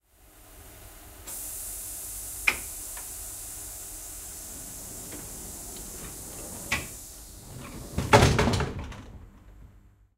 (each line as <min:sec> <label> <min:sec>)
0:01.3 pneumatic door closing on a tilt train 0:09.8